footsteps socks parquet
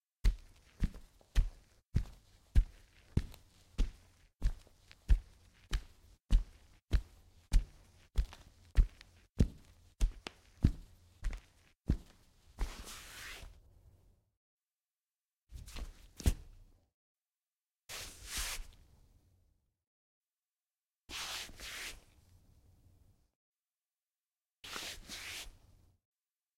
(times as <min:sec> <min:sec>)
0:00.2 0:12.9